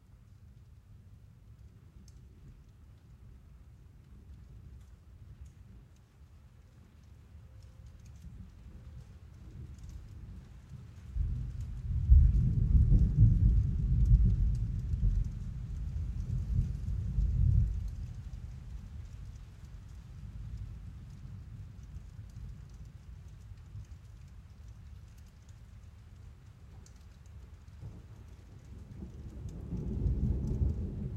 rain falling on the roof of my garage 0:00.0 - 0:31.1

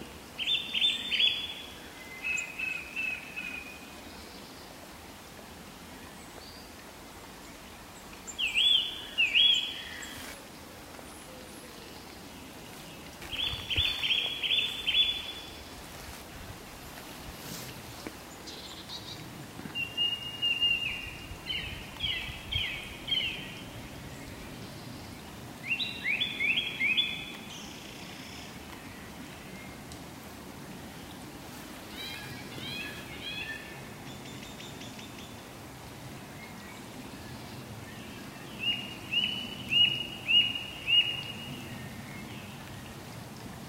song thrush 0:00.0 - 0:30.0
blackbird 0:13.2 - 0:15.7
song thrush 0:30.8 - 0:43.6

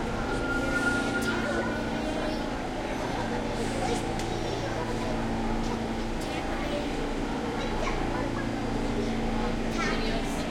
announcement 0:00.0 - 0:02.9
Passing subway 0:00.0 - 0:10.5

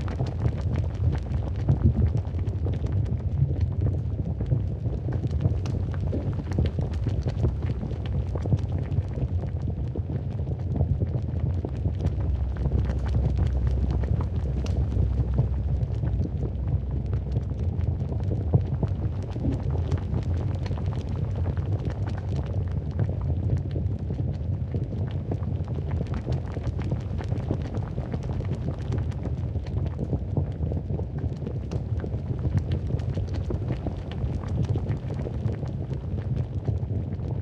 Heavy boiling, bubbling Lava 0:00.0 - 0:37.4

